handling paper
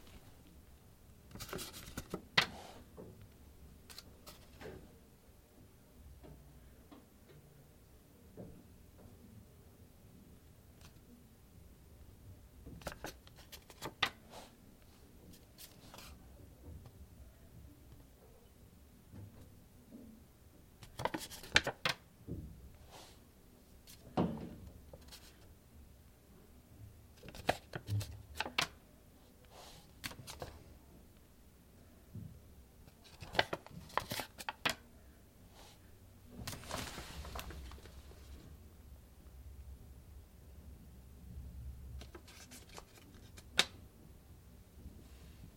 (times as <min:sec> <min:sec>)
0:01.3 0:02.5, 0:12.8 0:14.2, 0:33.0 0:34.8, 0:36.4 0:38.3, 0:42.0 0:43.6